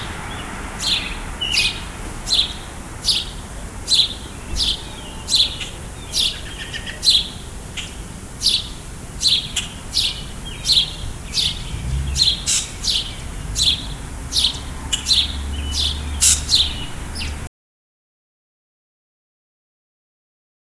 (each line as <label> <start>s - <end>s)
birds 0.0s - 17.5s